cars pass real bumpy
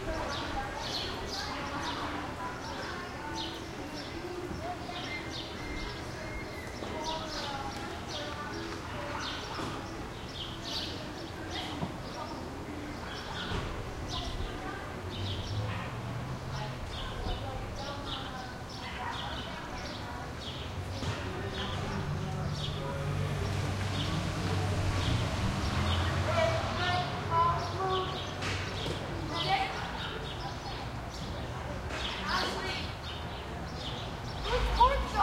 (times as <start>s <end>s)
20.4s 30.4s